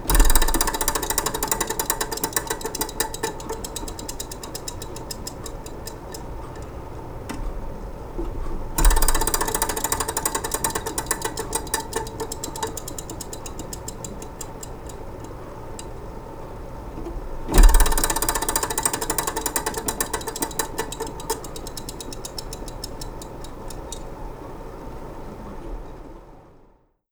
Antique slot machine barrels spinning 0:00.0 - 0:07.2
Antique slot machine barrels spinning 0:08.6 - 0:16.0
Antique slot machine barrels spinning 0:17.5 - 0:24.2

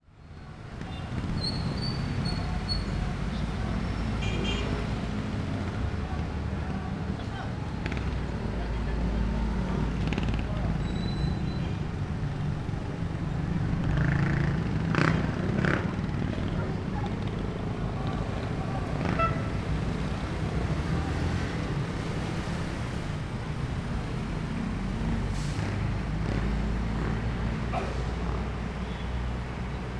heavy traffic with lots of vehicles 0:00.0 - 0:29.9
trucks 0:00.0 - 0:29.9
jeepneys 0:00.1 - 0:29.9
motorcycles 0:00.1 - 0:29.9
bus honking 0:04.0 - 0:05.0
bus honking 0:19.0 - 0:19.7

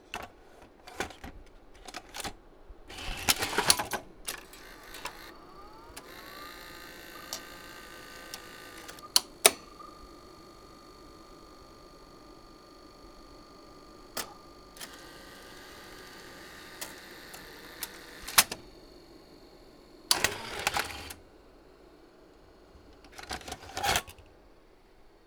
VTR begins unthreading the tape and ejecting the cassette 0:00.0 - 0:25.2
VTR then accepting the cassette and threading it 0:00.1 - 0:25.2
U-Matic recorder insert & eject 0:00.2 - 0:24.4
cassette being taken out of the compartment 0:03.0 - 0:18.7
cassette being taken out of the compartment 0:22.8 - 0:24.3

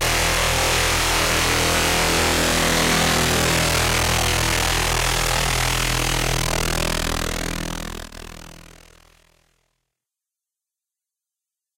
aggressive synth 0:00.0 - 0:09.0

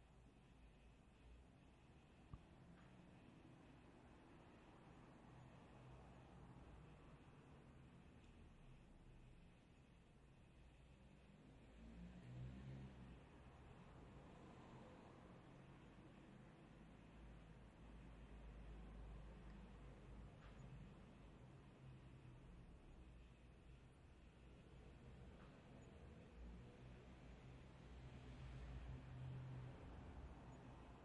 car 0:10.5 - 0:31.0

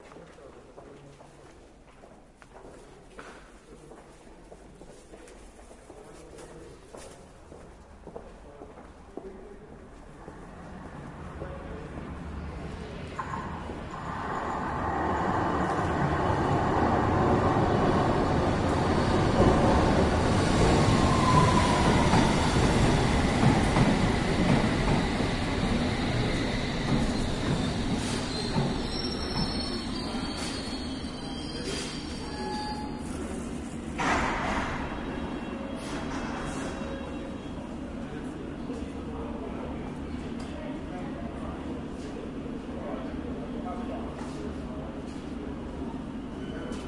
two trains arriving 0:06.3 - 0:46.8
train pulling off 0:12.0 - 0:36.8

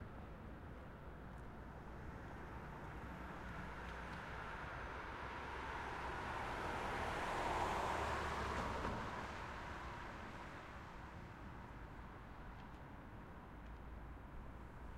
car moving from right to left 0:03.2 - 0:10.5

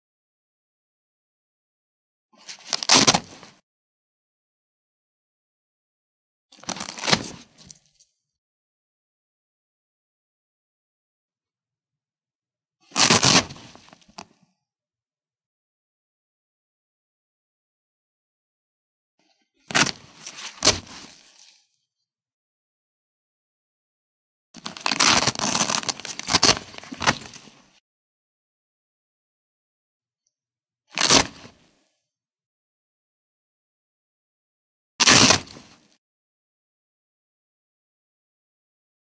Velcro Rips 0:02.4 - 0:03.6
Velcro Rips 0:06.6 - 0:07.8
Velcro Rips 0:12.8 - 0:14.3
Velcro Rips 0:19.7 - 0:21.6
Velcro Rips 0:24.6 - 0:27.8
Velcro Rips 0:30.9 - 0:31.6
Velcro Rips 0:35.0 - 0:36.0

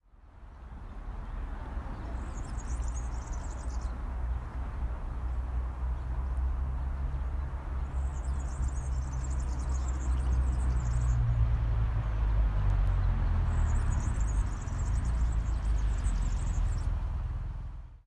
Birds sound 0:00.1 - 0:18.0

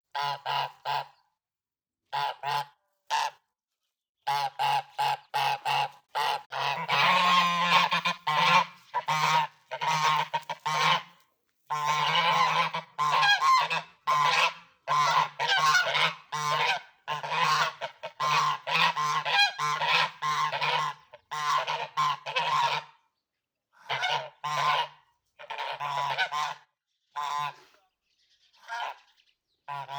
vocalization of two Geese 0:04.3 - 0:23.0
vocalization of two Geese 0:23.8 - 0:27.8
vocalization of two Geese 0:28.6 - 0:29.1
vocalization of two Geese 0:29.7 - 0:29.9

